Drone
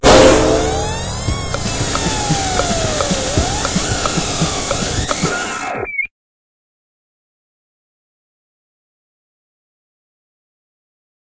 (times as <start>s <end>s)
0.0s 5.4s